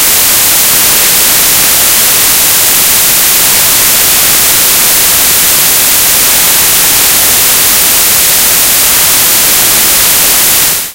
White noise 0:00.0 - 0:10.9

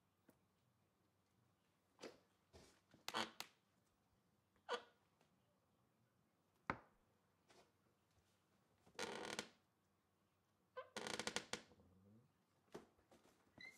wood bathroom door creaks 0:09.0 - 0:09.5
wood bathroom door creaks 0:10.9 - 0:11.7

